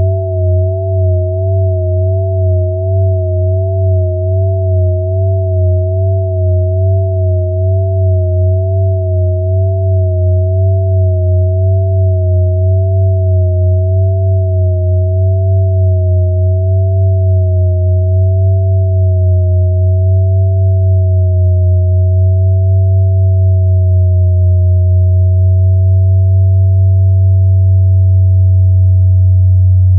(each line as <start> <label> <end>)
0.0 sine wave intended as a bell pad 29.9